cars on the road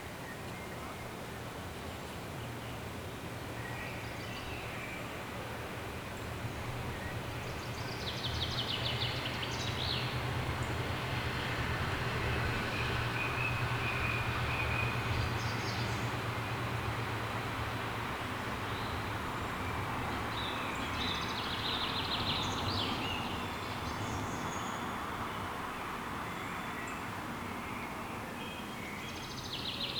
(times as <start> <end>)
8.3 24.2